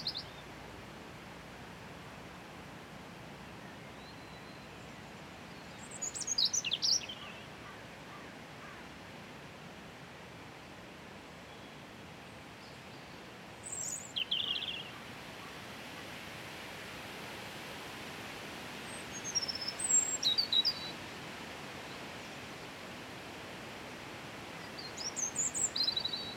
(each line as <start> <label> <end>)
0.0 Robin Singing 0.4
0.0 Wind in Trees 26.3
5.8 Robin Singing 7.4
13.6 Robin Singing 15.0
19.1 Robin Singing 20.9
24.6 Robin Singing 26.3